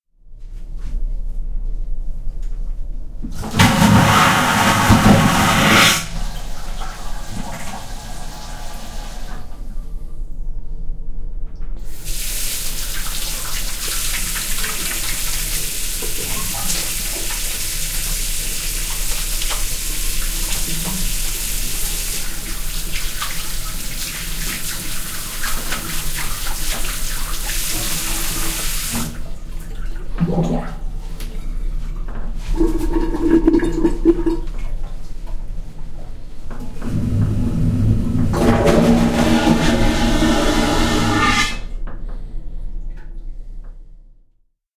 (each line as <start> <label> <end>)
3.2 liner bathroom gurgles 10.3
3.4 flush 9.5
11.8 liner bathroom gurgles 43.8
32.4 flush 34.7
36.8 flush 41.7